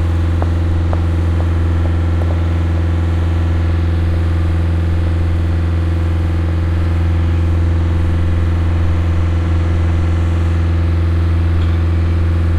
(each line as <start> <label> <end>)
0.0 workers on a facade 12.5